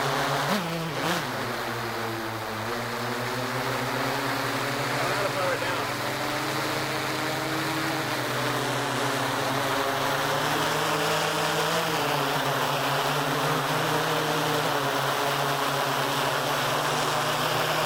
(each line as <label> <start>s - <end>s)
Quadcopter drone fades in, hovers around 0.0s - 17.8s
intermediate talking 4.9s - 6.0s